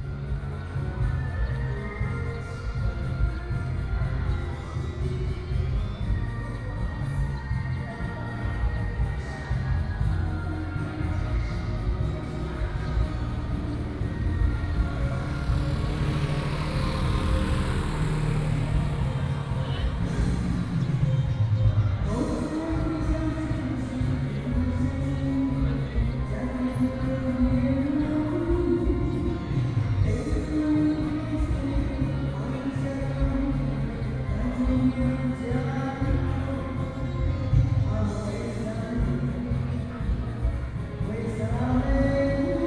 Karaoke 0.0 - 42.6
traffic sound 10.0 - 34.6

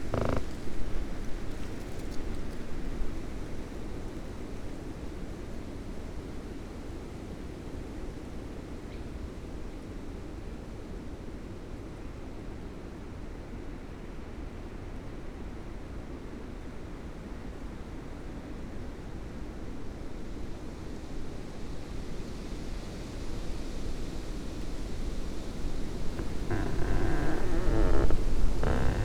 squeaking tree 0.0 - 0.6
squeaking tree 25.6 - 29.0

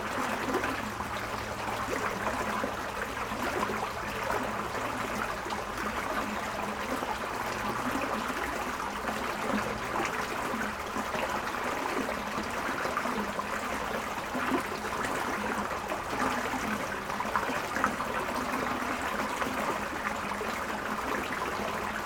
creek at bridge 0.0 - 22.0

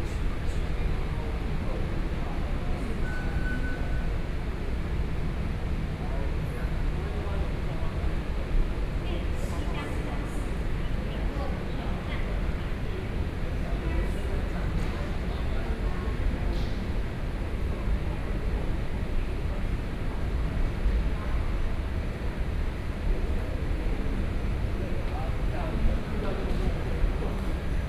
walking in the station 0.0 - 27.8

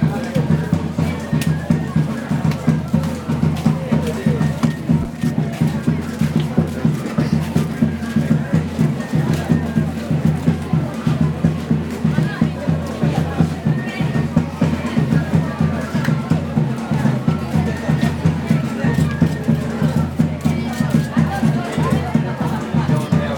market sounds 0.0 - 23.3

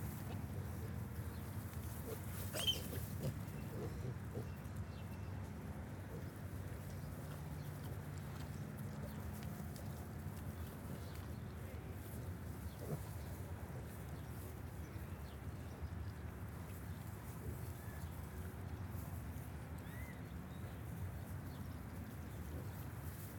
Berkshire sow and piglets 0.0 - 23.3
little squealy noises of the babies 2.4 - 3.9

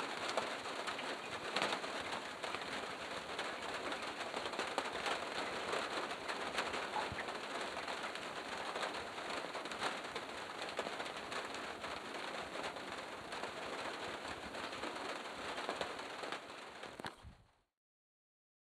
rain 0.0 - 17.3

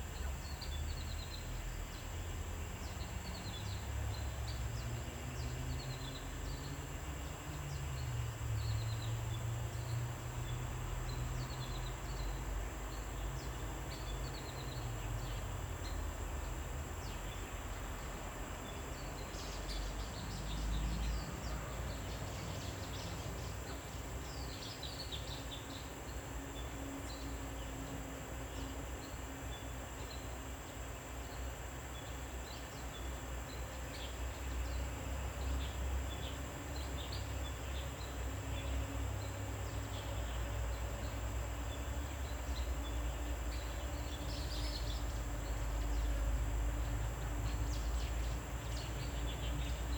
Cicadas cry 0.0 - 49.9

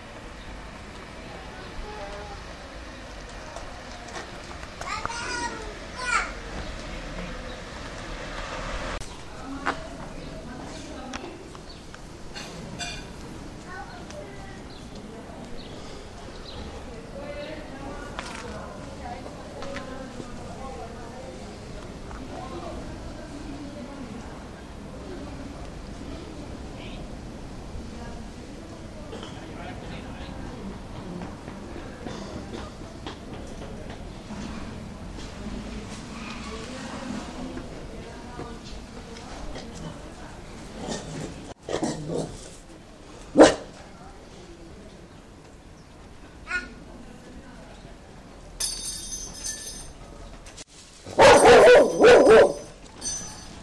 dog 51.2 - 52.7

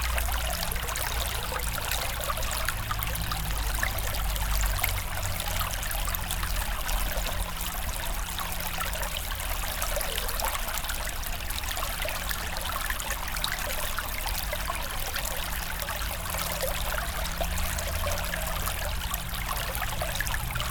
small river 0.0 - 20.7

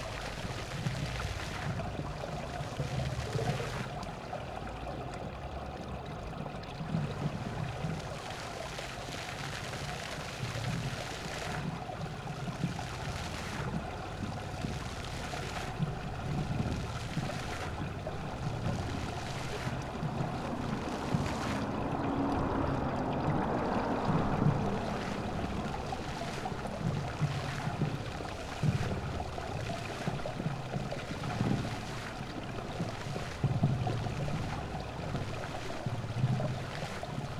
work of fountain 0.0 - 37.3

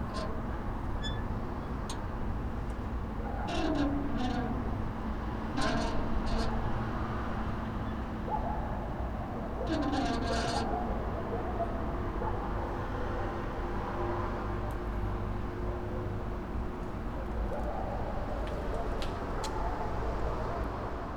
front door to the prison cells - squeaks 0.0 - 12.5

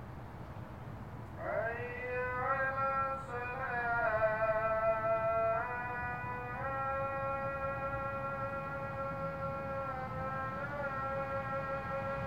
loud passing of cars 0.0 - 12.2
Islamic Call to Prayer 1.4 - 12.2

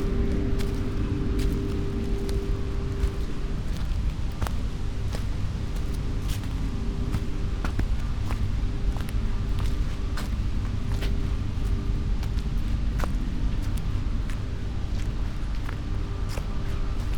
wind 0.0 - 17.1

